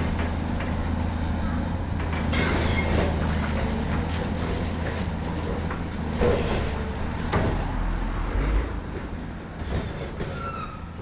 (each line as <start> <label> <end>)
2.0 excavator with grab breaks up parts of the building 7.7